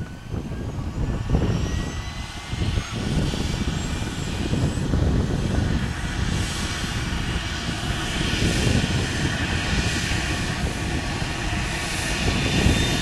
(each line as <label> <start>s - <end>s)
Engine start and take off of a german rescue helicopter 0.0s - 13.0s